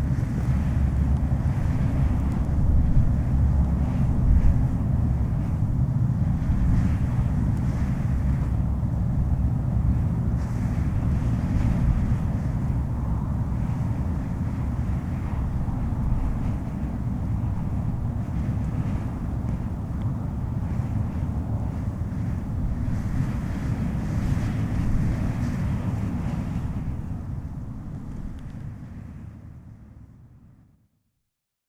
Wind gusts on the cliffs 0:00.0 - 0:30.5

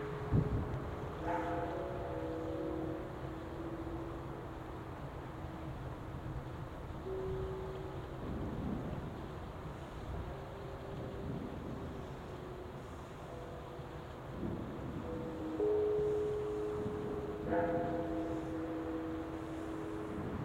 temple bells 0:00.0 - 0:09.2
traffic 0:00.0 - 0:20.4
trains 0:00.0 - 0:20.4
temple bells 0:10.1 - 0:20.4

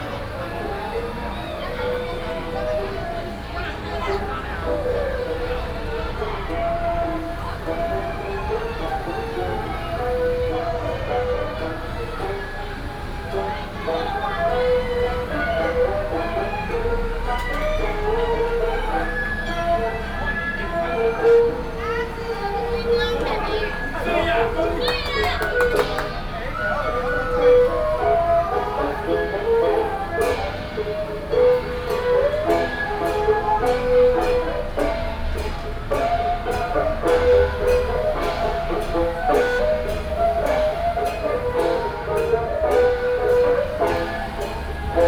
Variety show 0:00.0 - 0:45.0
Walking on the road 0:00.0 - 0:45.0

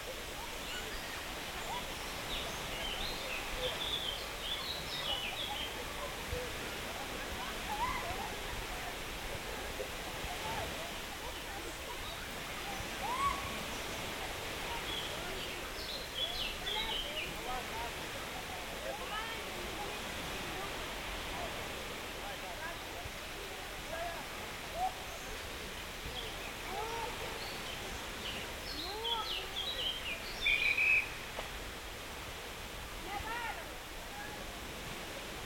sea 0:00.0 - 0:35.4

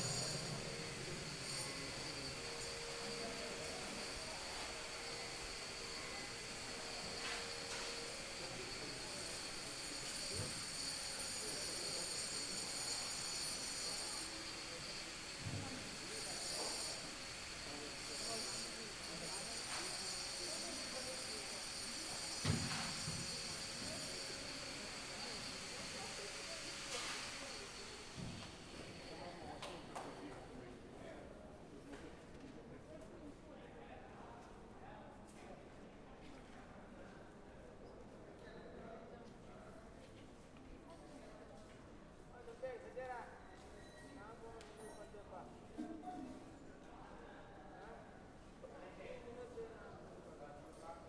construction occurs around them 0:00.0 - 0:51.0

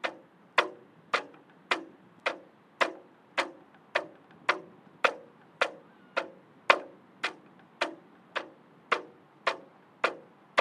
Flag in the wind 0:00.0 - 0:10.6

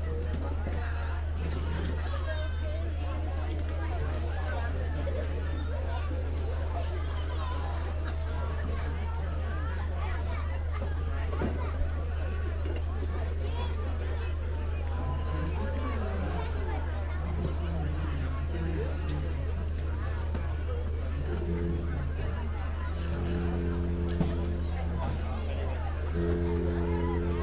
concert band warming up their instruments 0:00.0 - 0:27.4

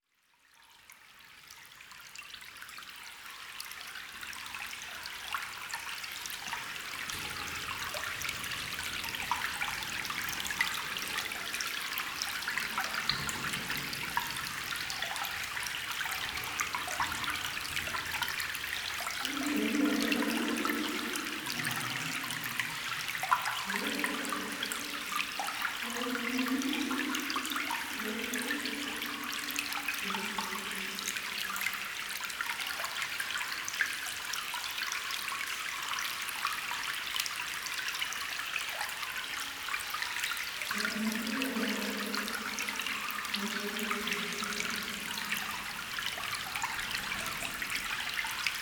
small waterstream 0:00.0 - 0:48.6
far reverberation of our discussions 0:07.0 - 0:32.3
far reverberation of our discussions 0:40.7 - 0:48.6

